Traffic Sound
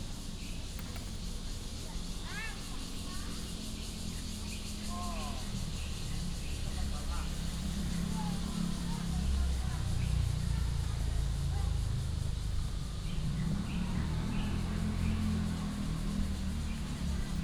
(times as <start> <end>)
12.9 17.4